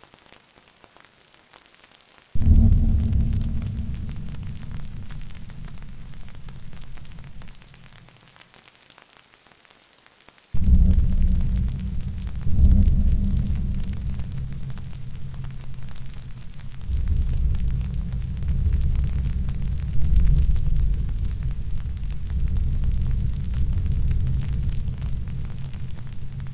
Rain 0:00.0 - 0:26.5
low heavy banging 0:02.4 - 0:07.9
Thunder 0:02.4 - 0:08.2
Thunder 0:10.6 - 0:26.5
low heavy banging 0:10.6 - 0:26.5

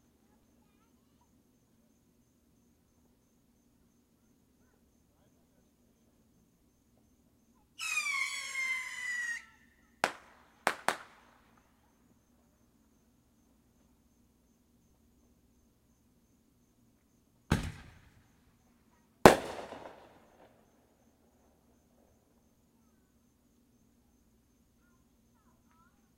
Fireworks 0:10.0 - 0:11.8
Fireworks 0:17.5 - 0:18.4
Fireworks 0:19.2 - 0:20.8

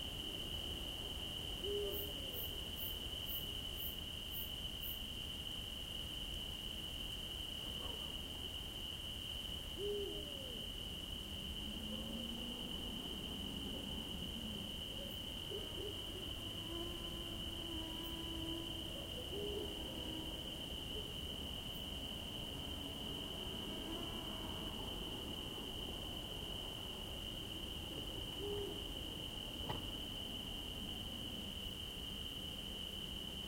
soft cricket chorus 0:00.0 - 0:33.4
distant owl 0:01.6 - 0:02.4
distant owl 0:09.8 - 0:10.6
mosquitoes 0:11.4 - 0:27.1
distant owl 0:14.9 - 0:20.4
distant owl 0:28.4 - 0:28.8

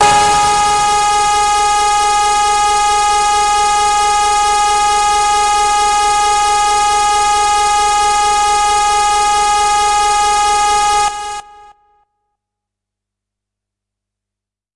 hard, harsh lead sound 0:00.0 - 0:11.7

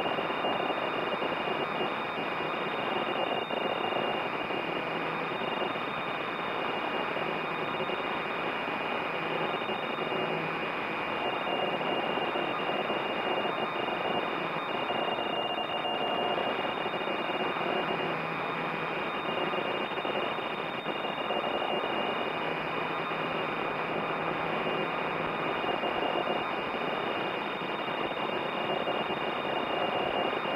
data transmissions over shortwave or HF radio frequencies 0:00.0 - 0:30.5

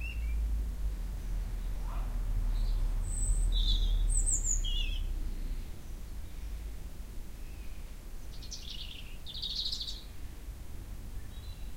Birdsong 0:00.0 - 0:10.5
Birdsong 0:11.1 - 0:11.7

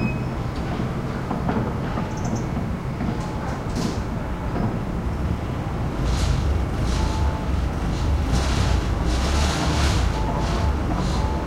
construction banging 0:00.0 - 0:11.4
distant traffic 0:00.0 - 0:11.4

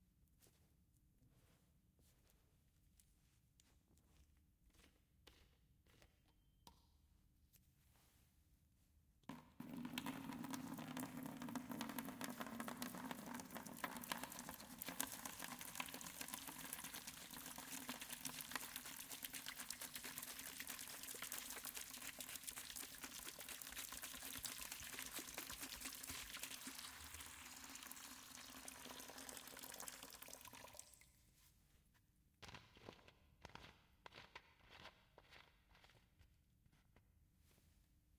pouring water into the bucket 0:09.6 - 0:31.1

